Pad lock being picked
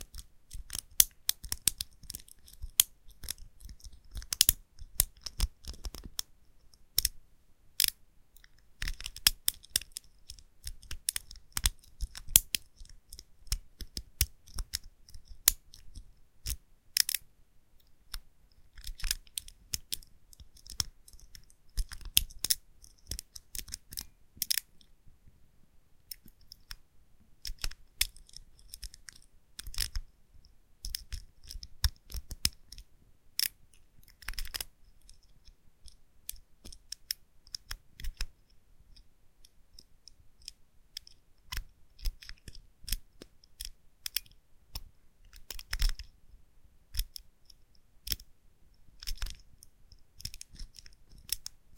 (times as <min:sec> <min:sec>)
0:27.4 0:30.0, 0:49.0 0:49.4